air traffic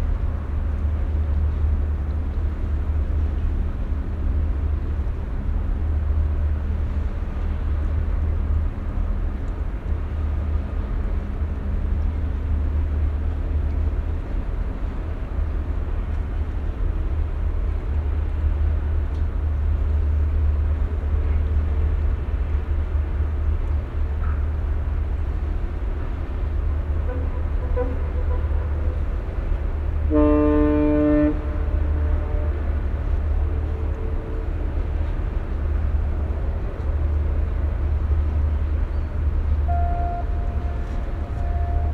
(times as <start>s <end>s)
18.6s 41.9s